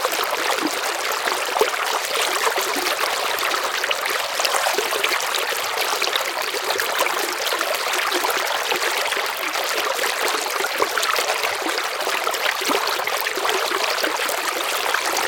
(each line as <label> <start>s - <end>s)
River flow 1.9s - 8.2s